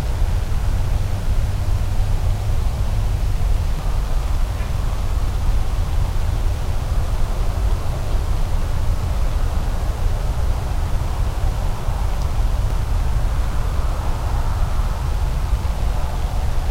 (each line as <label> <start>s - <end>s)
wind 0.0s - 16.7s